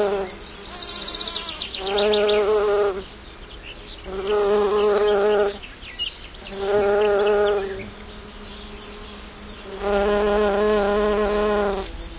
birds 0:00.0 - 0:12.1
bumblebee buzzing 0:00.0 - 0:12.1
insects 0:00.0 - 0:12.1

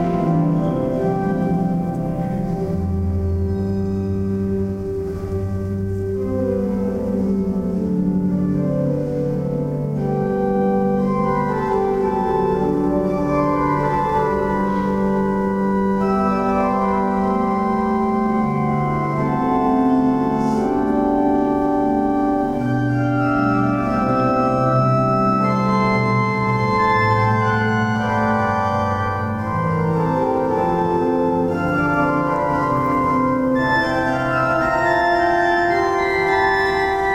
organ practise 0:00.0 - 0:37.1

